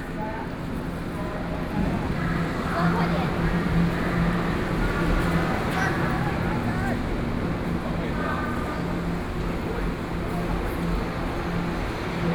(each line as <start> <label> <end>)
0.0 train 12.3